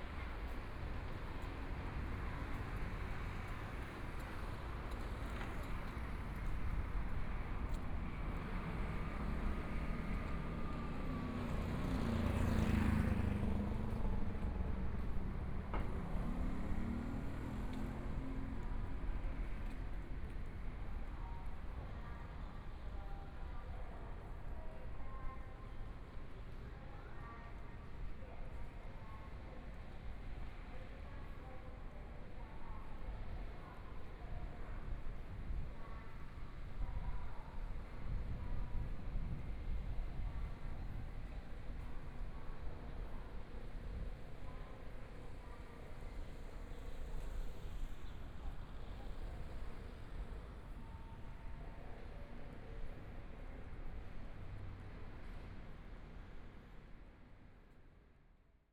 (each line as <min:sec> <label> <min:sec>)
0:00.0 Walking along the outside of the school 0:58.2
0:00.0 Traffic Sound 0:20.5